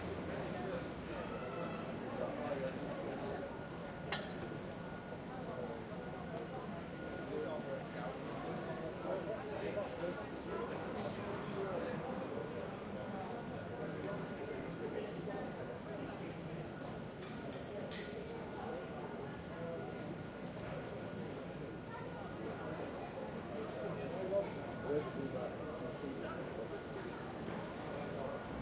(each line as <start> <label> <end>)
0.0 Pedestrians 28.6